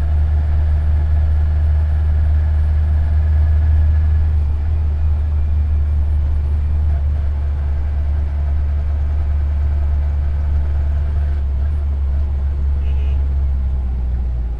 Rickshaw 0.0 - 14.5

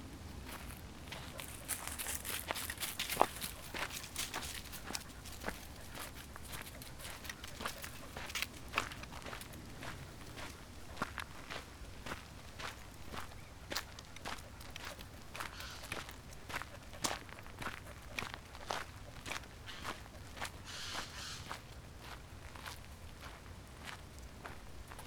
walking the dog 0.2 - 25.0

